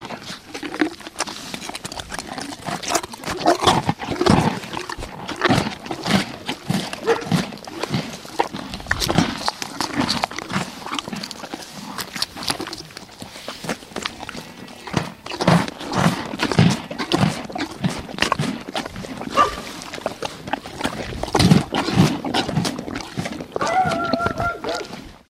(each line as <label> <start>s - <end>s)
horse eating a bread roll 0.0s - 25.2s
dog is barking and whining 7.0s - 7.3s
dog is barking and whining 19.4s - 19.6s
dog is barking and whining 23.6s - 25.0s